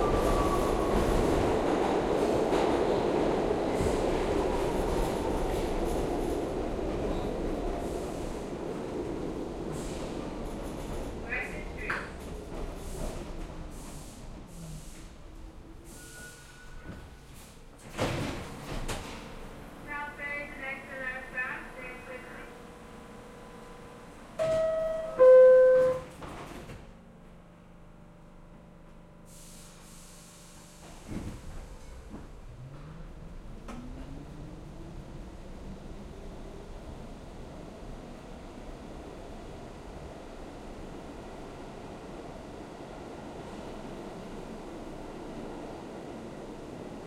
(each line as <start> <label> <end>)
0.0 subway announcement 17.4
0.0 Subway Train Arriving to Station 26.8
19.3 subway announcement 26.5
27.4 Subway Train Arriving to Station 47.0